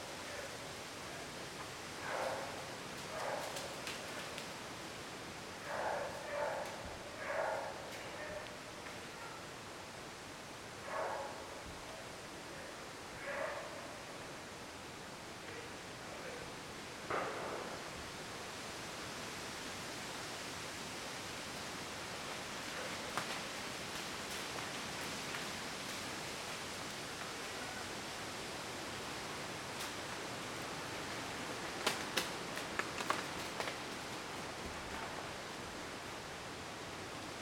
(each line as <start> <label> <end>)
0.0 Wind 37.4
2.0 dogs barking 3.7
5.6 dogs barking 8.5
10.8 dogs barking 11.5
13.2 dogs barking 13.9